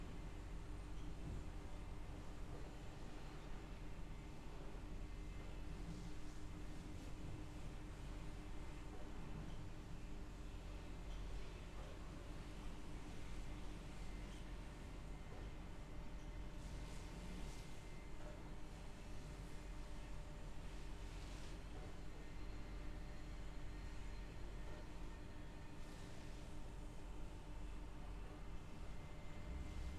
0.0s noise from a machine used to help process fish 29.9s

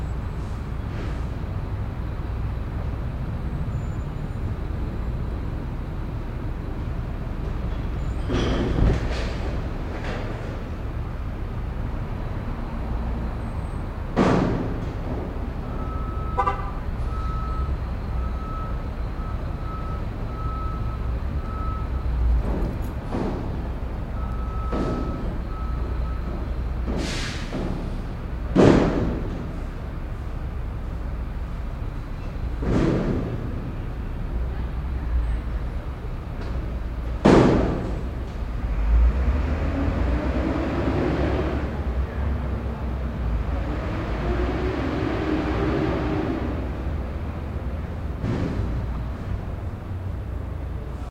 0.0s truck drove away 51.1s

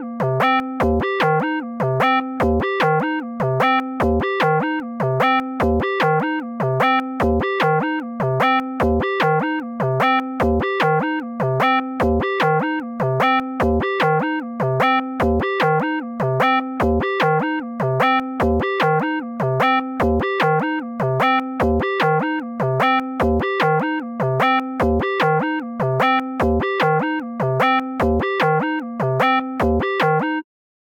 0.0s Synth Arpeggiator 30.4s

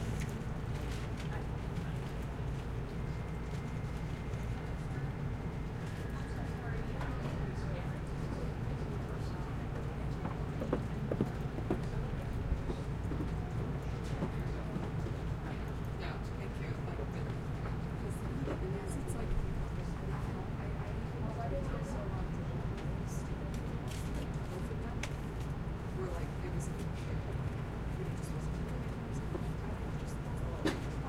0.0s heavy ventilation 31.0s
0.7s conversation 31.0s

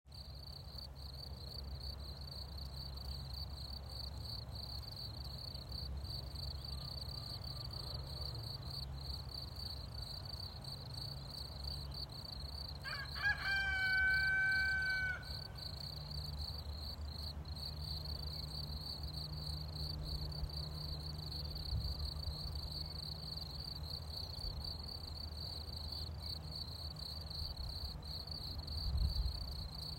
0.0s wind 29.9s
0.1s Cricket 29.9s
12.8s rooster sound 15.7s

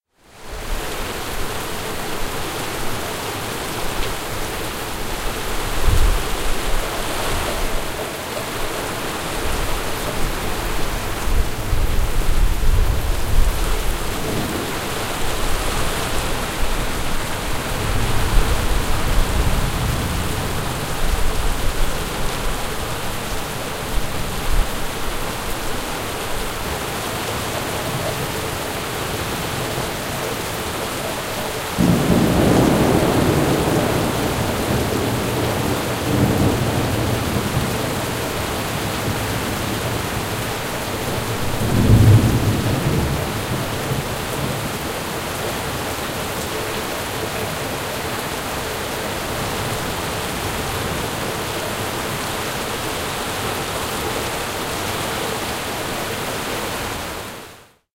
0.0s Heavy rain 57.9s
31.8s rolling thunder 40.4s
41.1s rolling thunder 44.8s

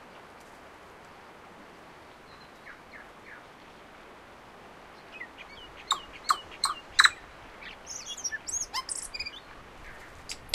0.0s distant Tui birds 4.0s
0.0s background waves 10.5s
0.0s slight wind 10.5s
2.0s Tui bird singing 3.8s
4.6s distant Tui birds 10.5s
4.9s Tui bird singing 10.5s

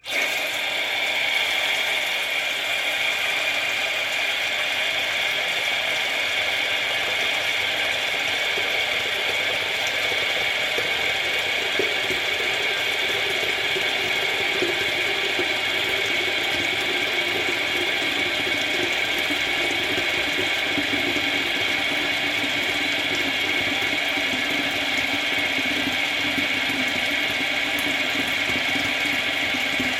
0.0s sink faucet turning on, running, filling sink up 29.9s

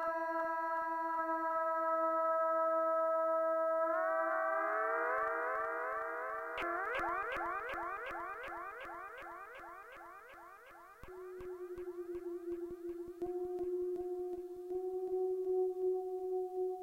0.0s synthesizer 16.8s

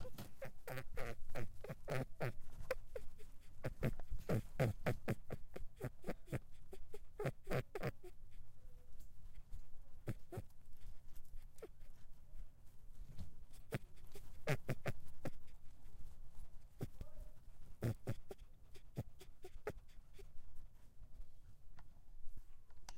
0.0s Female rabbit 22.9s

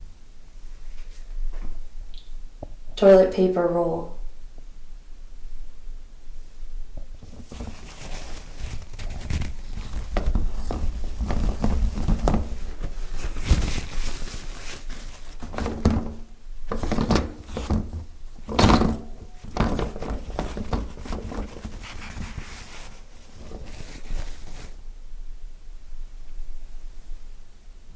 7.2s Rolling toilet paper 24.8s

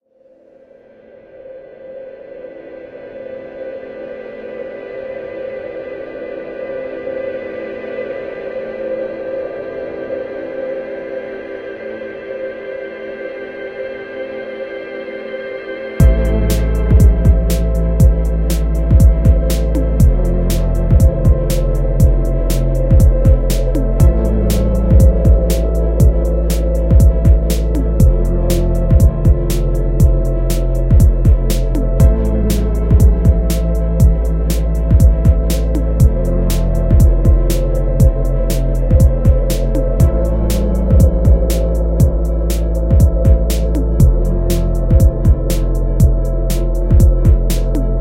0.8s drone 48.0s
1.3s synth 48.0s
16.0s drum kit 48.0s
16.0s bass 48.0s

